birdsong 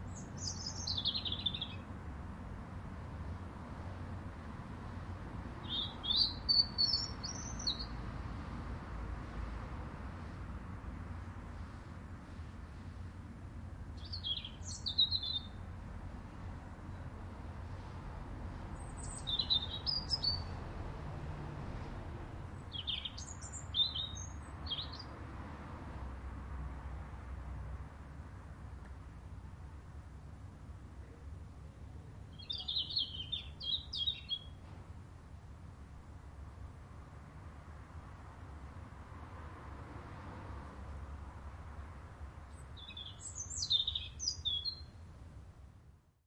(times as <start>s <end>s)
0.0s 1.9s, 5.5s 8.0s, 13.9s 15.6s, 18.8s 20.6s, 22.6s 25.2s, 32.2s 34.7s, 42.5s 45.0s